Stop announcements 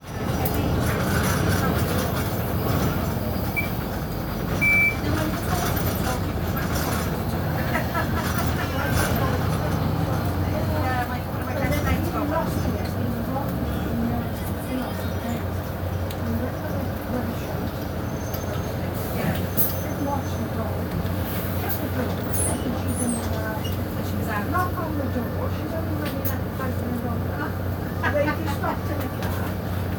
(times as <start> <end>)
2.9 6.4